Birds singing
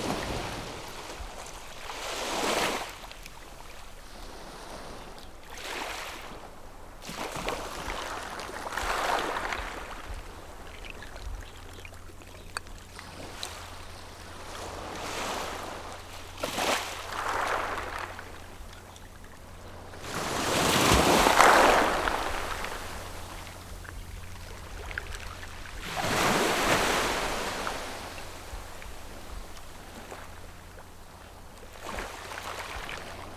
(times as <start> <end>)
15.8 33.3